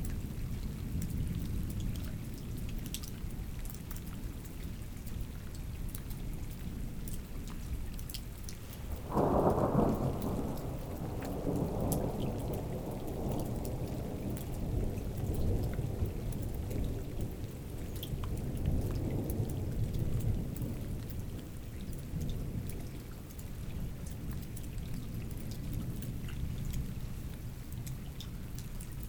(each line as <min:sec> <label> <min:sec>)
0:08.9 strong storm 0:21.6